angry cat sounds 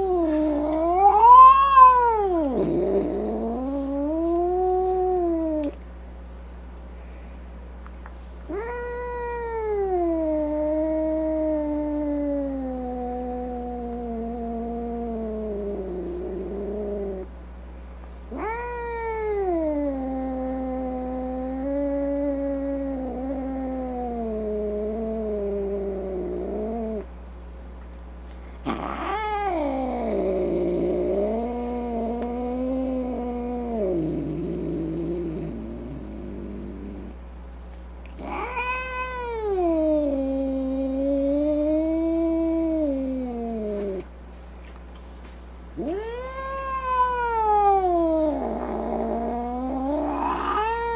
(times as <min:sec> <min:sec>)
0:00.0 0:05.8, 0:28.6 0:33.9, 0:38.2 0:43.6, 0:45.8 0:50.9